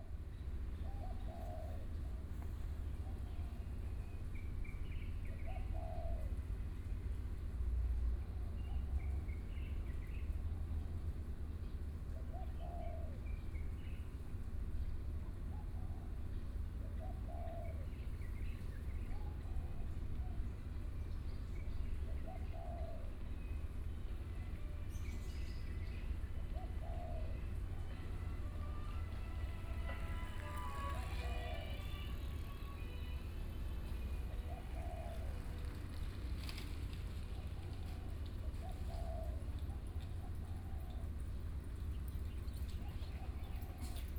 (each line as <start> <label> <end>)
23.1 Bicycle 44.1